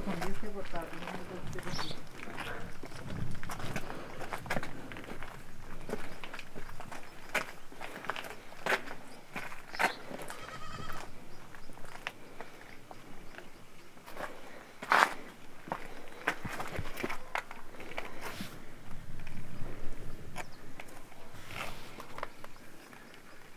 walk 0:00.0 - 0:23.5

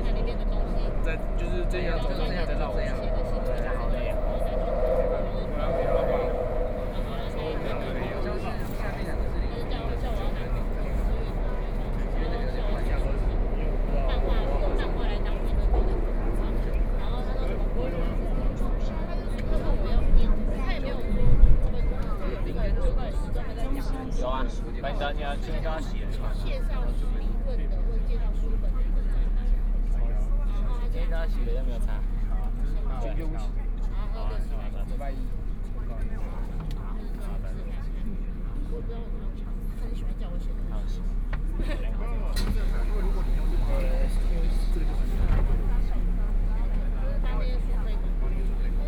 Walking in the station 0:00.0 - 0:48.8

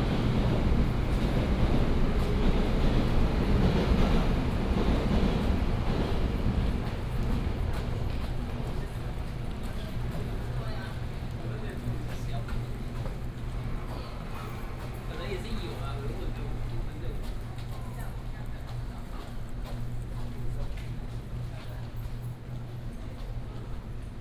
Walking in the train station platform 0:00.0 - 0:24.2

